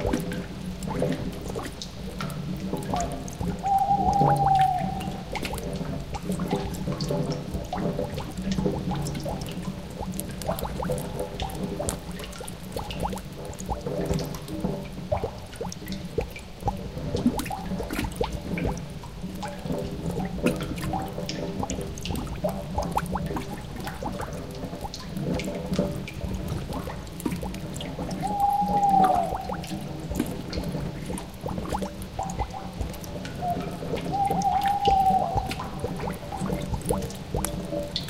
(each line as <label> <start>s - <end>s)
owl 3.6s - 5.2s
owl 28.2s - 29.6s
owl 33.4s - 35.6s